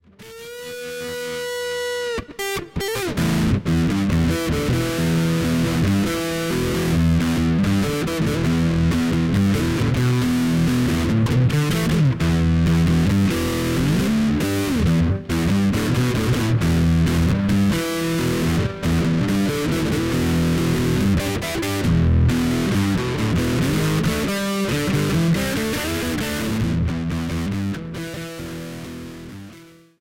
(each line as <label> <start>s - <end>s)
electric guitar with lots of distorsion 0.0s - 30.0s